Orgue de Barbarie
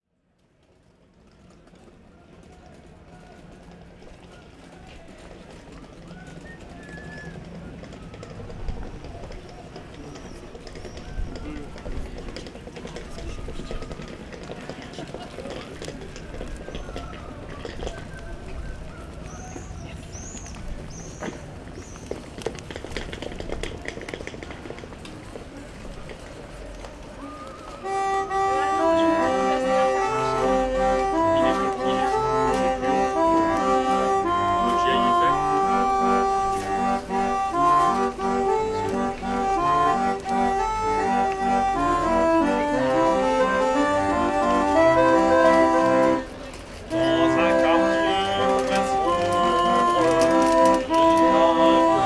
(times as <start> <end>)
27.8 52.0